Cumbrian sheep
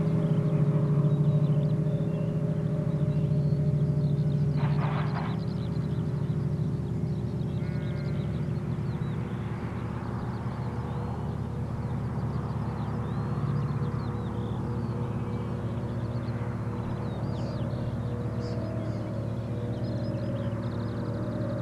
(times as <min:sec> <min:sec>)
0:07.5 0:08.6